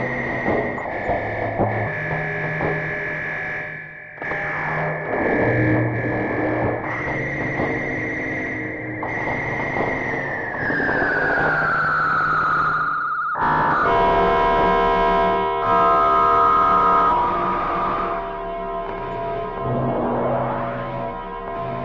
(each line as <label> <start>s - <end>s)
synthesizer 8.7s - 21.8s